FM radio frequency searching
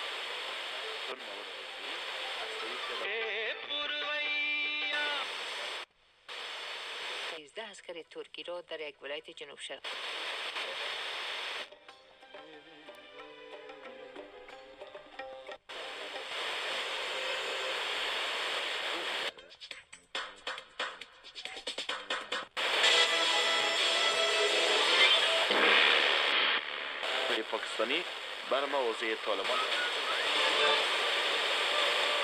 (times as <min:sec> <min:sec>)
0:00.0 0:03.2, 0:04.7 0:07.4, 0:09.9 0:11.7, 0:15.7 0:19.3, 0:22.6 0:32.2